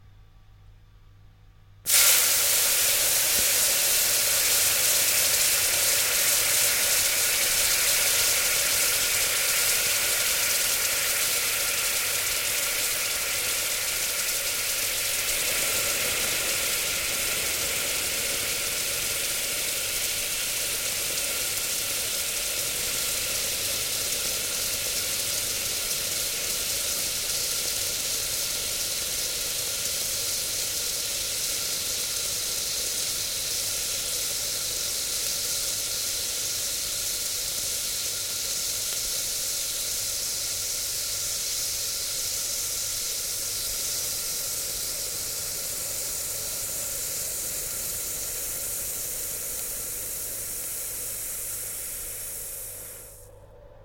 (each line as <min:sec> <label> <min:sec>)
0:01.9 Water evaporating once dropped onto a hot pan 0:11.9